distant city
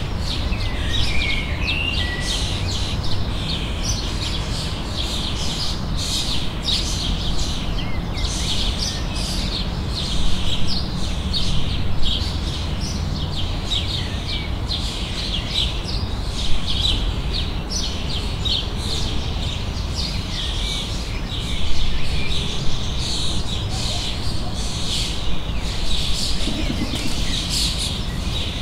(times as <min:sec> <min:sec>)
0:21.6 0:28.6